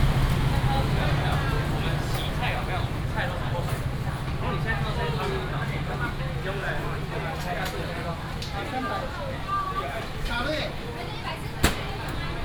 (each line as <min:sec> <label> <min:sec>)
0:00.0 vendors peddling 0:07.4
0:00.0 traffic sound 0:08.4